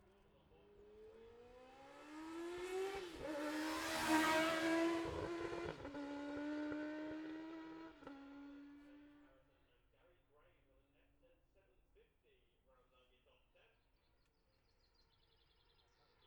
0.0s classic superbikes qualifying 9.4s

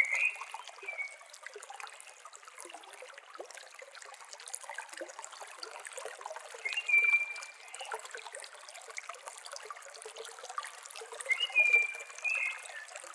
0.0s Simple Valley Stream Water Sounds 13.1s
11.3s Bird Singing 12.9s

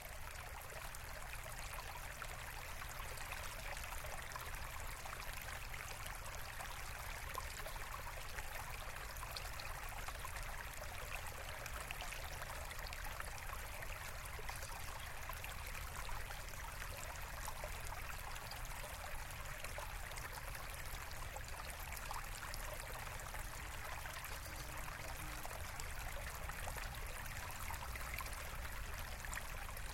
0.0s Stream 29.9s

